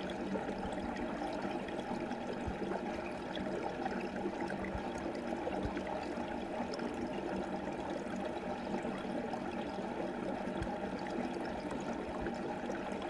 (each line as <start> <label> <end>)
0.0 Stream entering pipe 13.0